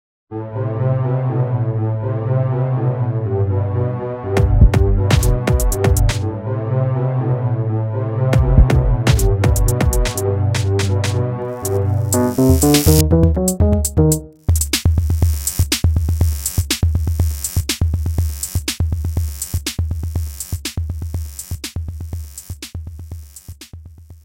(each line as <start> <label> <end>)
4.4 drum loop 6.2
8.4 drum loop 24.2